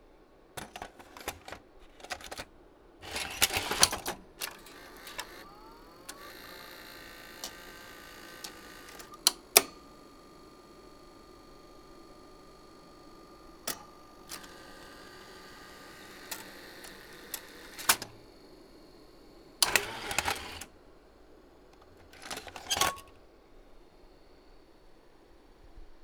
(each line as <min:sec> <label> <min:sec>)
0:00.6 VTR begins unthreading the tape and ejecting the cassette 0:25.7
0:00.6 inserting the cassette in 0:24.7
0:00.6 VTR then accepting the cassette and threading it 0:25.6
0:21.7 cassette being taken out of the compartment 0:23.2